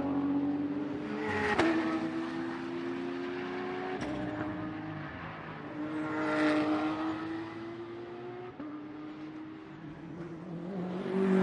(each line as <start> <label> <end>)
0.0 Several race cars passing by 11.4